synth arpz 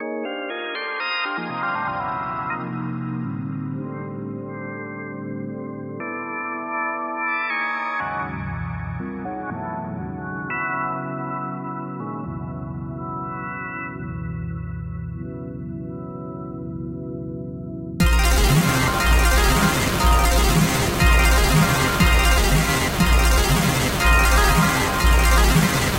18.0s 25.9s

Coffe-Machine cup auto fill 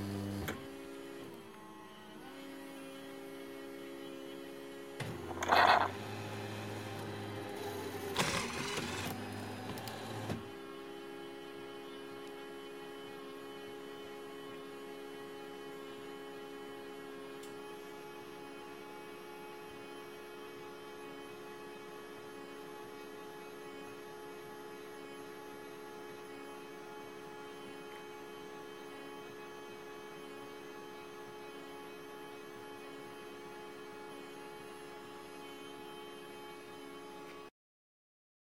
5.0s 10.4s

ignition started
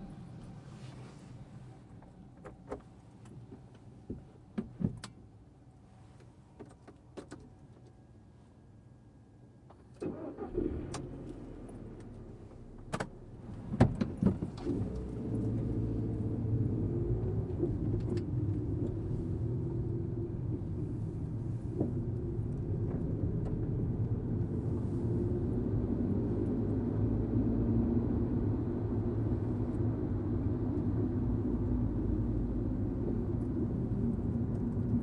10.0s 12.4s

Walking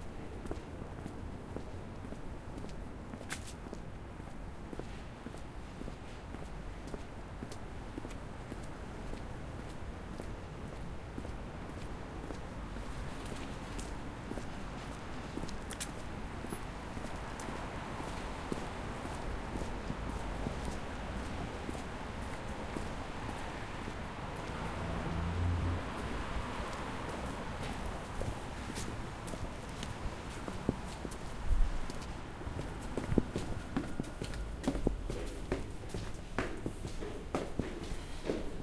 26.0s 38.6s

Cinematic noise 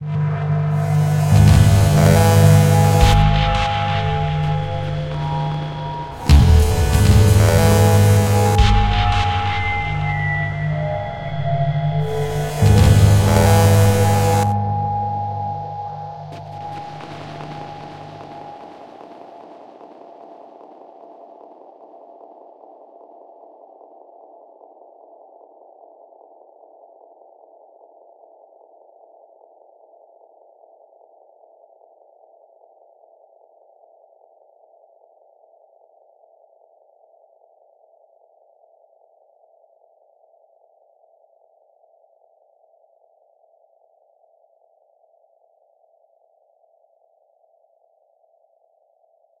0.0s 19.2s

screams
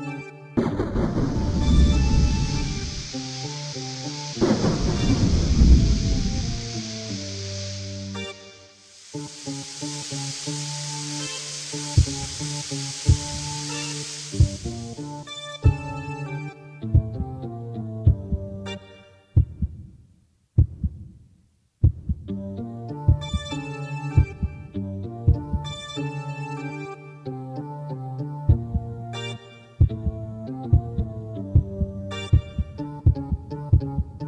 0.6s 15.3s

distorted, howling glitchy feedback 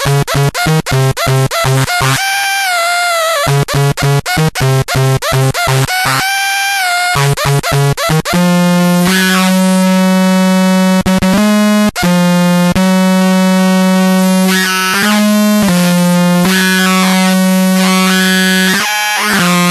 14.2s 19.7s

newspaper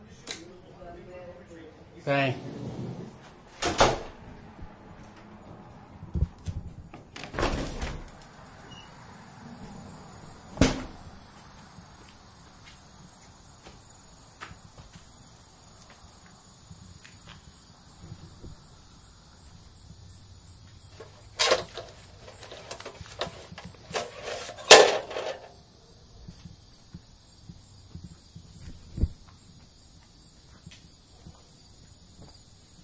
21.0s 25.5s

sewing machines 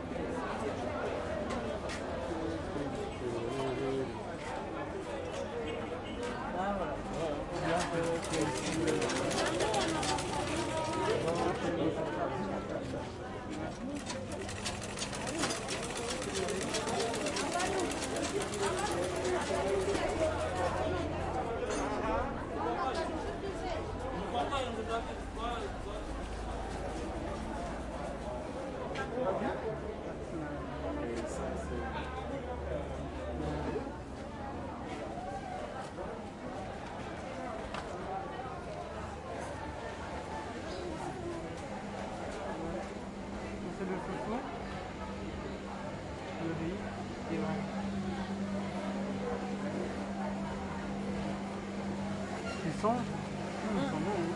7.7s 11.6s, 14.0s 20.8s

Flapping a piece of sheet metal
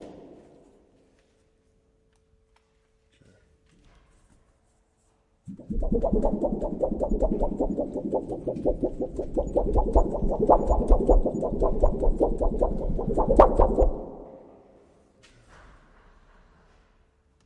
5.5s 14.3s

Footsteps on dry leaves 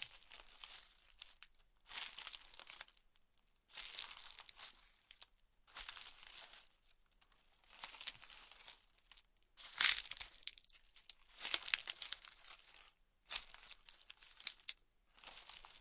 1.9s 2.8s, 3.7s 6.7s, 7.6s 8.8s, 9.6s 10.6s, 11.3s 15.8s

